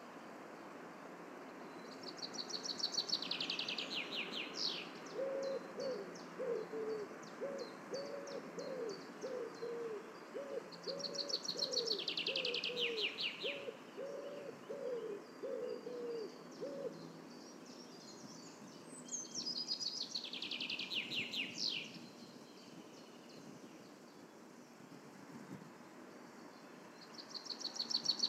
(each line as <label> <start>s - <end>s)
birds singing in their spring style 1.4s - 28.2s